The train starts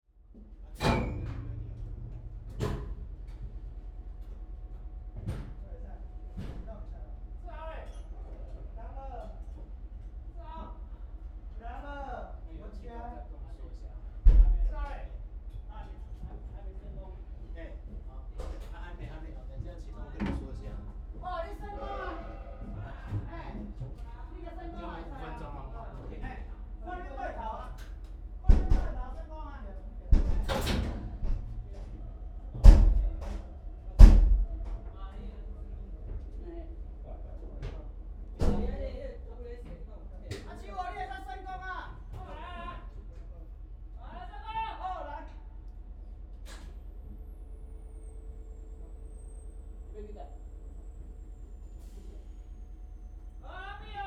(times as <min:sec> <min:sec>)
0:46.5 0:53.4